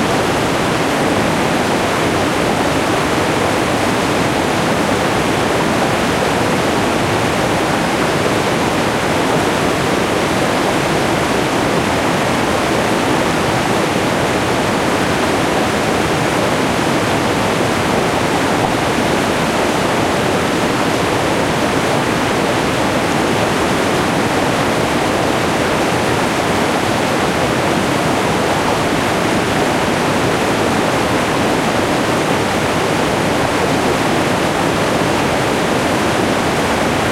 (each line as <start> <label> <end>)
0.0 mid-sized waterfall 37.1